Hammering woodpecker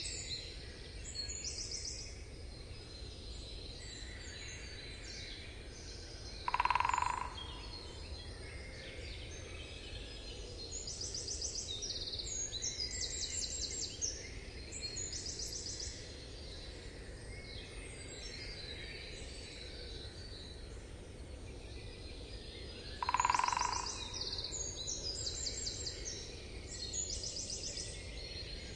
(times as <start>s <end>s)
6.4s 7.7s, 23.0s 24.2s